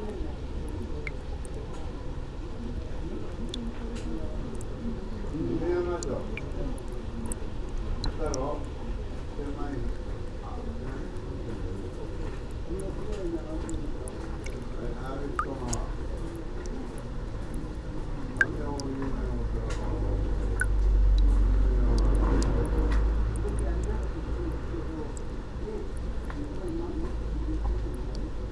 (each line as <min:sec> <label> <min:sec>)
0:00.0 water drops 0:28.5